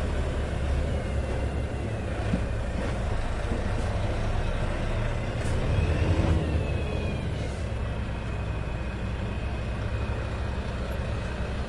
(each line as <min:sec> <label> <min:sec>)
0:00.0 Noise made by our truck 0:11.6